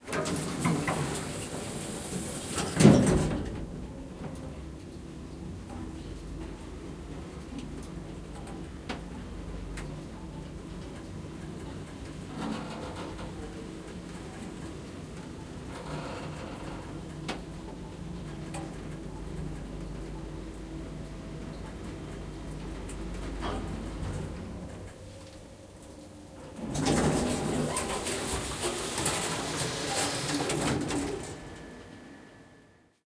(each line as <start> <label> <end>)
0.0 closing elevator doors 4.5
0.0 moving elevator 4.7
6.4 moving elevator 32.5
21.1 closing elevator doors 32.1